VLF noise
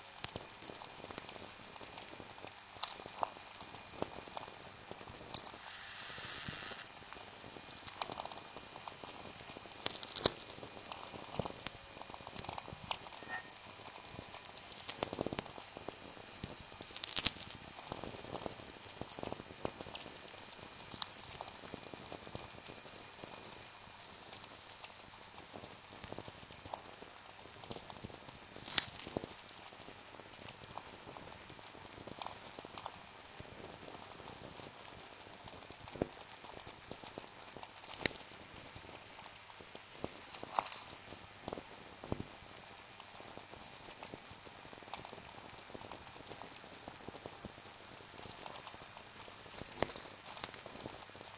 5.4s 7.4s

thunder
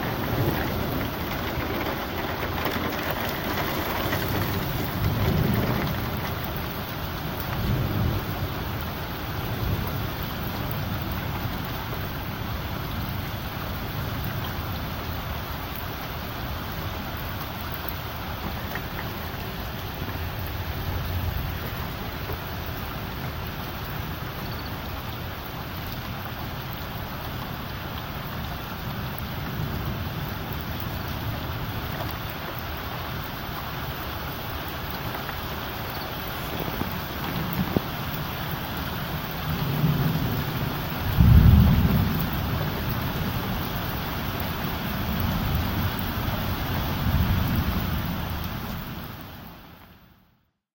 0.0s 12.2s, 36.4s 48.8s

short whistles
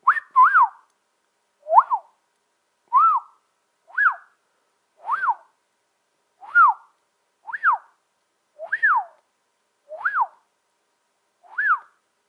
0.0s 0.9s, 1.6s 2.1s, 2.9s 4.4s, 5.0s 5.5s, 6.4s 6.9s, 7.5s 8.0s, 8.6s 9.2s, 9.9s 10.4s, 11.4s 12.0s

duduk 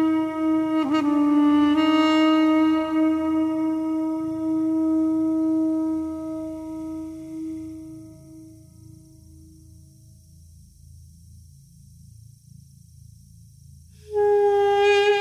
0.0s 9.5s, 14.1s 15.2s

